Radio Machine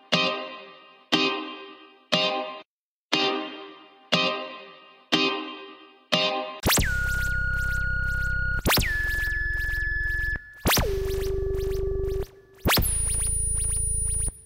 6.6 14.4

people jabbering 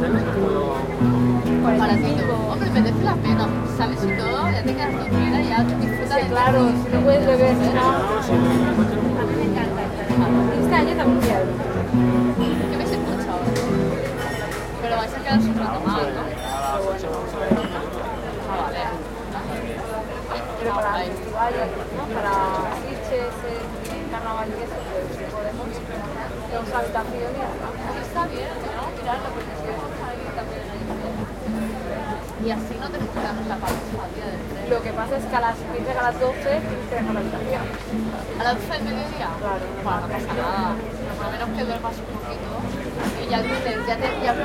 0.0 16.3

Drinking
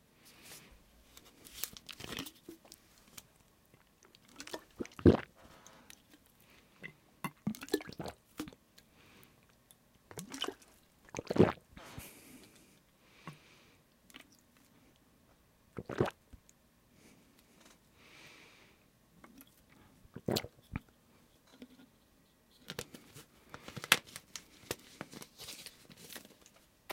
4.1 6.1, 10.1 12.6, 15.8 16.2, 20.1 20.9

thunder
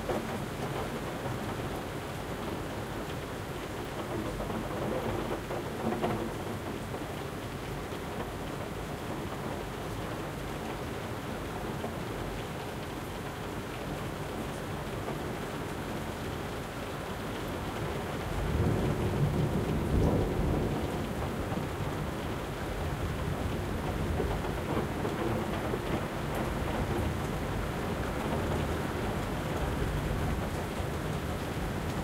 18.4 27.3

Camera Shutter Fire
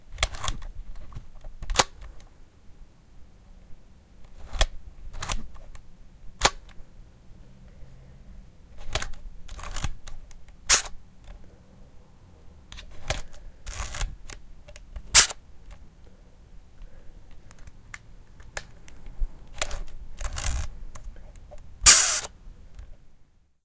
10.7 11.0, 15.1 15.4, 19.6 20.7, 21.8 22.3

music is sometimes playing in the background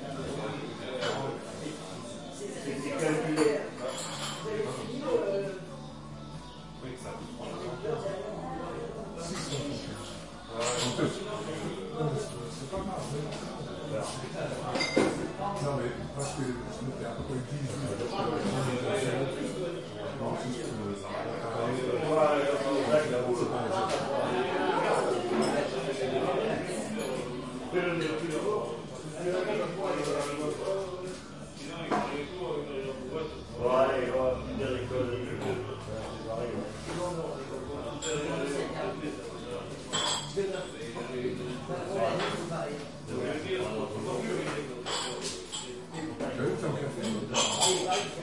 0.0 25.7

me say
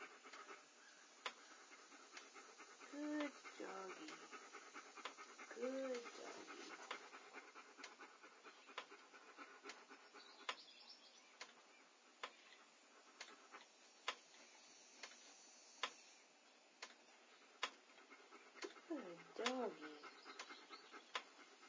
2.9 4.2, 5.5 6.5, 18.9 20.1

